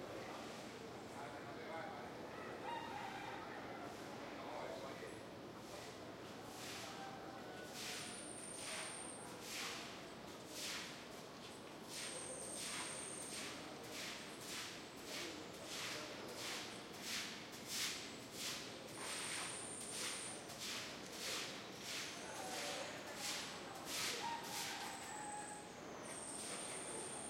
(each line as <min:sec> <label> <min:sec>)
0:02.3 rooster 0:04.2
0:23.9 rooster 0:25.8